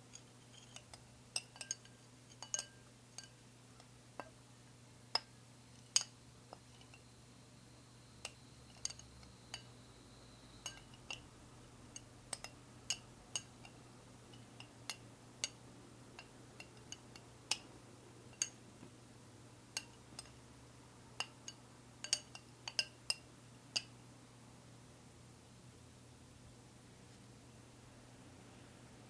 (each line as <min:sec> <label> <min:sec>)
0:00.0 clinking a fork around inside of a bowl 0:04.4
0:05.1 clinking a fork around inside of a bowl 0:07.1
0:08.2 clinking a fork around inside of a bowl 0:09.8
0:10.6 clinking a fork around inside of a bowl 0:11.3
0:11.9 clinking a fork around inside of a bowl 0:15.6
0:16.2 clinking a fork around inside of a bowl 0:17.6
0:18.3 clinking a fork around inside of a bowl 0:18.6
0:19.7 clinking a fork around inside of a bowl 0:20.4
0:21.2 clinking a fork around inside of a bowl 0:23.9